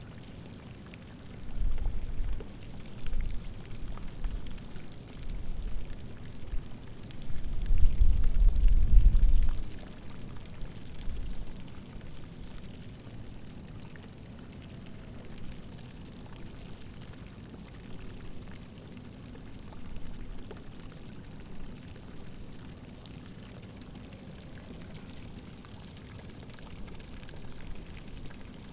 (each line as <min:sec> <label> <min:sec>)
0:00.0 fountain 0:28.7